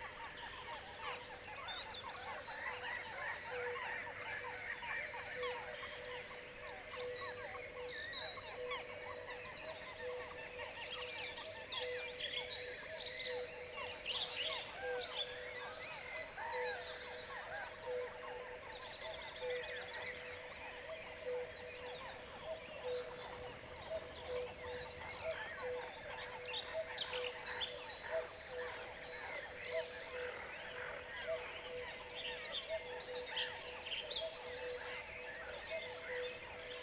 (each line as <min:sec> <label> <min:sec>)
0:00.0 cuckoos 0:36.8
0:00.0 other birds 0:36.8
0:00.0 seagulls 0:36.8